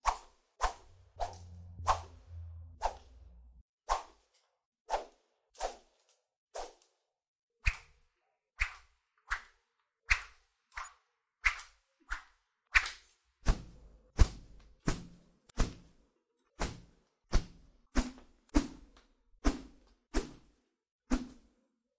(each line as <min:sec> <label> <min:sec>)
0:00.0 Swoosh Swish 0:04.0